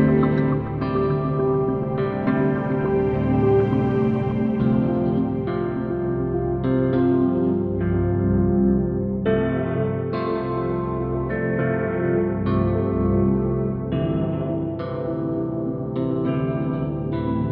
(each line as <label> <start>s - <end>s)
Space pad 0.0s - 17.5s
guitar 0.0s - 17.5s
piano 0.0s - 17.5s